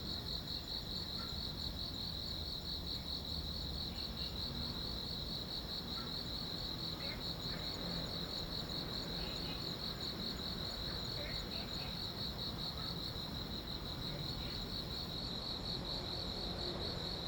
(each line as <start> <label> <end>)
0.0 insects 17.2